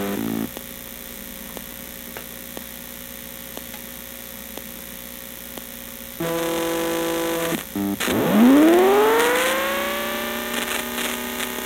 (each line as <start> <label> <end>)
6.2 Broken optical drive spinning up and making glitchy noises 11.6